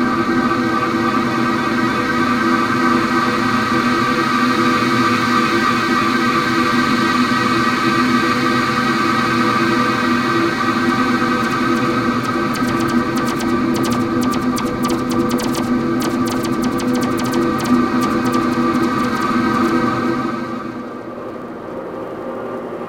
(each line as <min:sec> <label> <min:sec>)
0:11.4 drone 0:20.8